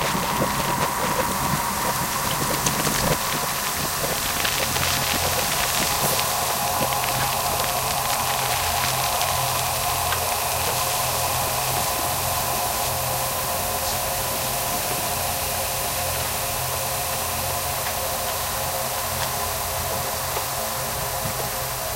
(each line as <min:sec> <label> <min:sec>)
0:00.0 bandpass-filtered white noise 0:21.9
0:00.0 fire 0:21.9